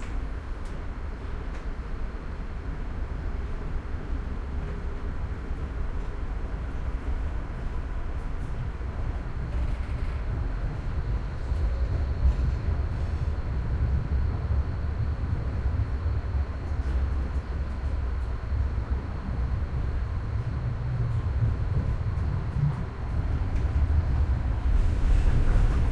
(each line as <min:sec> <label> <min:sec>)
0:00.0 almost empty tram 0:25.9